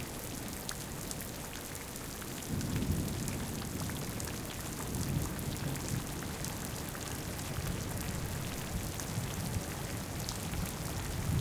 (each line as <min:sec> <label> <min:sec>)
0:00.0 Rain recording that was done underneath a corrugated iron roof 0:11.4
0:11.2 thunder 0:11.4